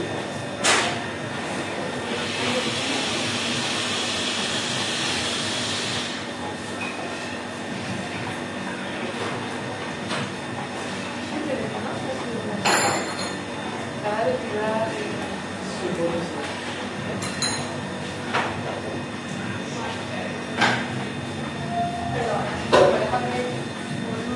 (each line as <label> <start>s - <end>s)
dishes 12.6s - 13.4s
dishes 17.2s - 17.8s